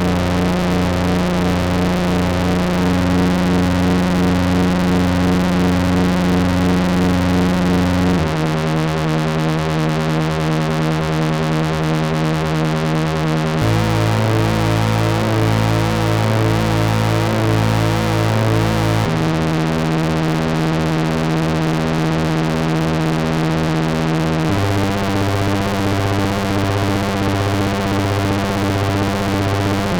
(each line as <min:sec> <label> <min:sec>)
0:13.6 Drone sound 0:19.6
0:24.5 Drone sound 0:29.9